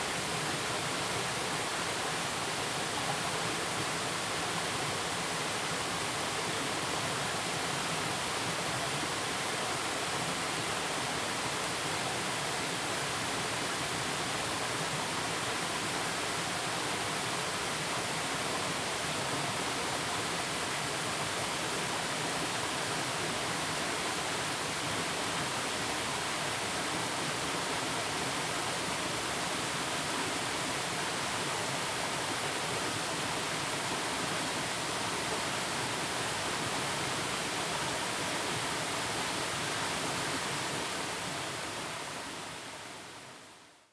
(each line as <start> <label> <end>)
0.0 stream sound 43.5
0.0 waterfall 43.9